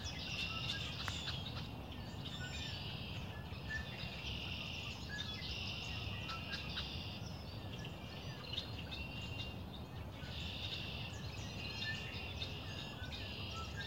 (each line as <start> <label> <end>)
0.0 birdsong 13.8